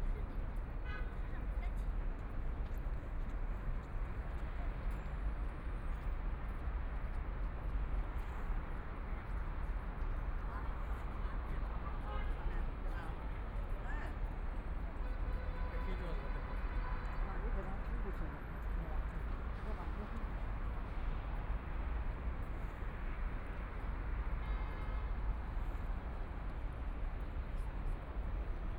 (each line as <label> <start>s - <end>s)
travelers to and from the crowd 0.0s - 28.7s
vehicles on the road 0.0s - 28.7s
Walking on the bridge 0.2s - 28.7s